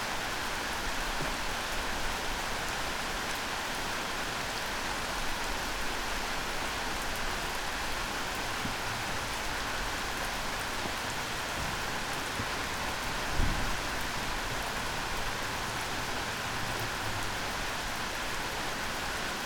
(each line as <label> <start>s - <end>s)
night rain 0.0s - 19.4s